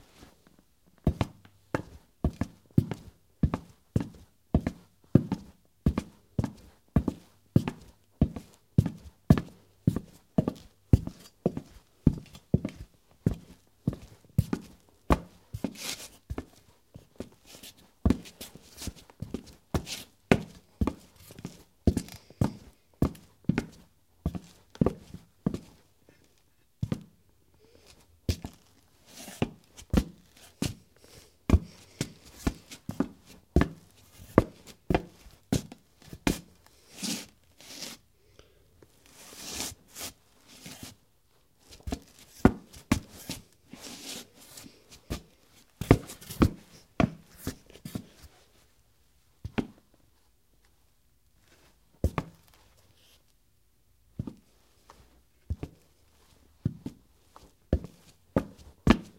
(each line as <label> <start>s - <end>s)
Cowboy boots walking on ceramic tile 0.5s - 25.7s
Cowboy boots walking on ceramic tile 31.5s - 36.6s
Cowboy boots walking on ceramic tile 41.7s - 48.2s
Cowboy boots walking on ceramic tile 54.2s - 54.5s
Cowboy boots walking on ceramic tile 55.4s - 55.9s
Cowboy boots walking on ceramic tile 56.6s - 59.1s